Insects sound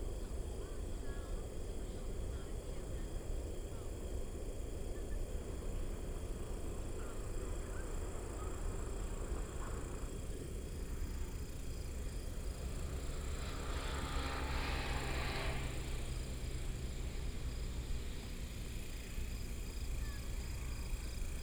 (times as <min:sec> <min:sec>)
0:05.6 0:21.4